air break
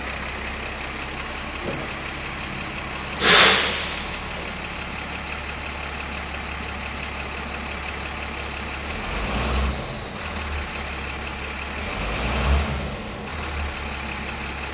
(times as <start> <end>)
3.2 4.6